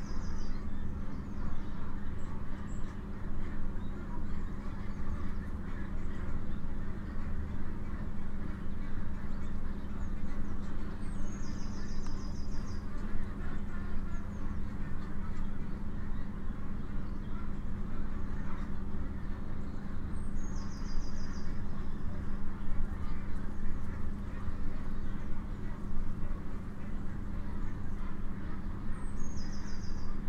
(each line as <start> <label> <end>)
0.0 Poultry can be heard incessantly 30.2
0.0 heated, ventilated housing 30.2
0.0 wild birds sing freely 30.2